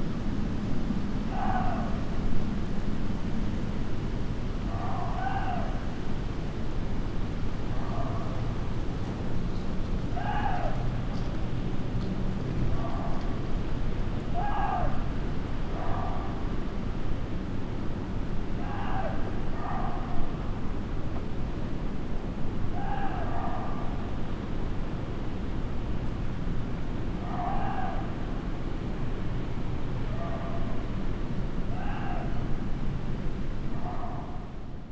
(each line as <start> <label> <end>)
0.0 windy night 34.9